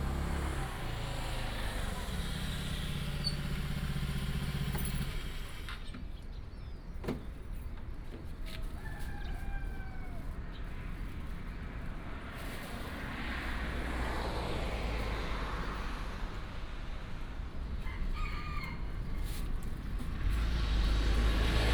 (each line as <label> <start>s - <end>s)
Traffic sound 0.0s - 21.7s
Chicken crowing 8.6s - 10.4s
Chicken crowing 17.8s - 19.3s